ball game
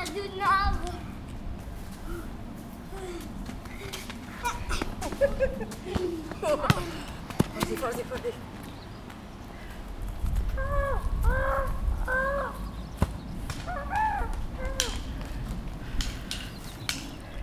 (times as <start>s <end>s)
3.5s 9.2s, 12.1s 17.2s